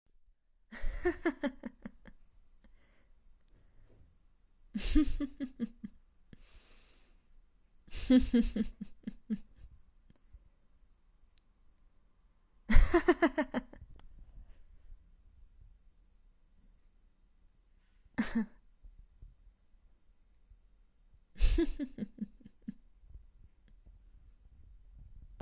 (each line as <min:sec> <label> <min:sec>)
0:00.7 Laugh - female 0:02.2
0:04.8 Laugh - female 0:06.0
0:07.9 Laugh - female 0:09.7
0:12.7 Laugh - female 0:13.9
0:18.2 Laugh - female 0:18.6
0:21.4 Laugh - female 0:22.8